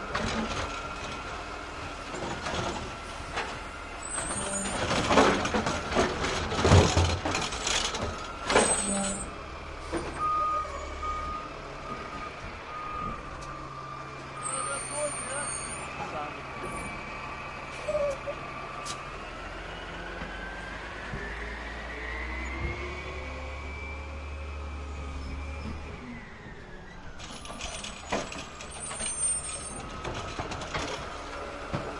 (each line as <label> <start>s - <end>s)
Garbage Truck Hydraulic Arm lifting and dumping a plastic garbage bin 0.1s - 13.7s
Garbage Truck Hydraulic Arm lifting and dumping a plastic garbage bin 24.0s - 31.9s